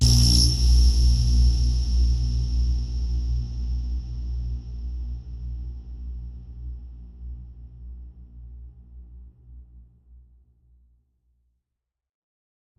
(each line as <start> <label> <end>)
0.0 High Resonacne electrcity sound 2.1